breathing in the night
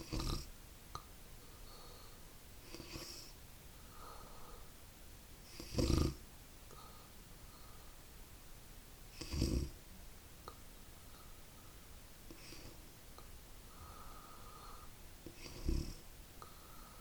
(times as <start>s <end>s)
1.4s 4.8s, 5.4s 8.1s, 13.6s 17.0s